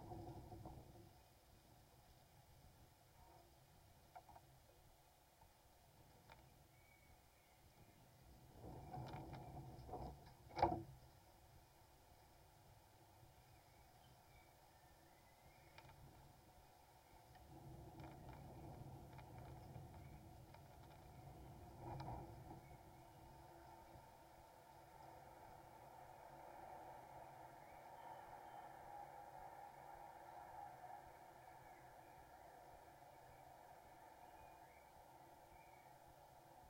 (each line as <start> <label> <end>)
5.4 wind on fence 36.6
6.0 bird sounds 11.3
12.9 bird sounds 36.6